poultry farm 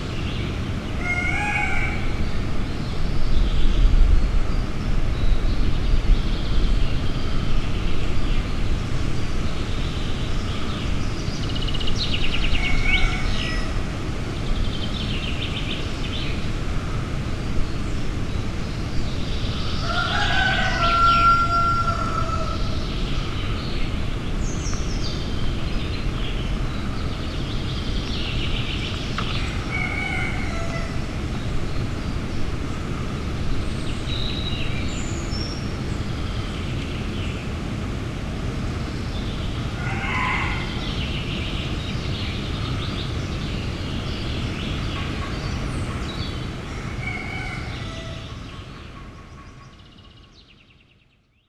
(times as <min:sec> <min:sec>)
0:01.0 0:02.4, 0:12.5 0:13.8, 0:19.8 0:23.6, 0:29.2 0:31.2, 0:39.6 0:41.1, 0:44.9 0:50.2